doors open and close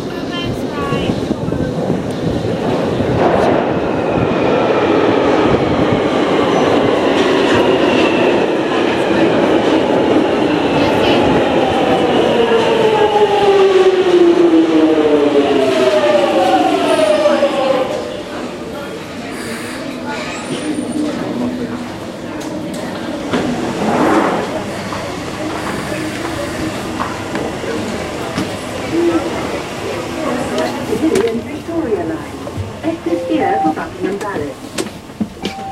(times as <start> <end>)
34.8 35.7